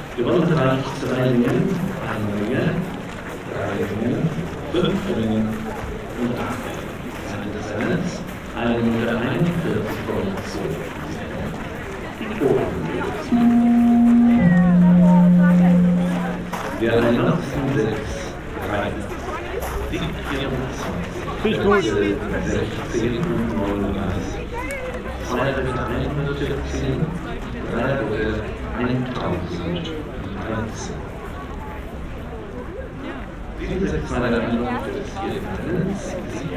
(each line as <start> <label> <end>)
9.0 award ceremony 23.8